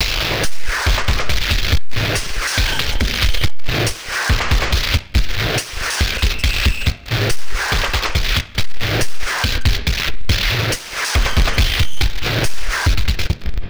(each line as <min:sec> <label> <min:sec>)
0:00.0 Blown out drum loop 0:13.5